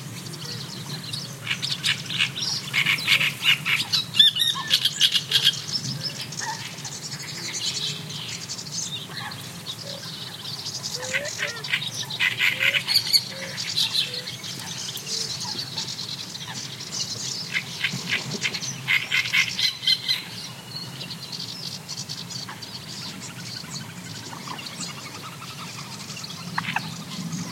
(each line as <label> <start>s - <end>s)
callings from Great Reed Warbler 0.3s - 20.6s
callings from Great Reed Warbler 21.2s - 27.5s